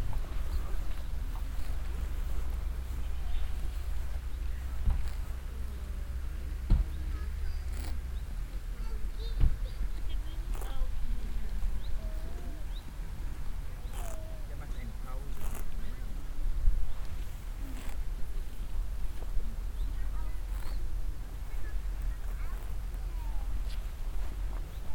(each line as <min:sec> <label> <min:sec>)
0:00.0 visitors walking around talking 0:24.9
0:00.0 wild donkeys eating meadow 0:24.9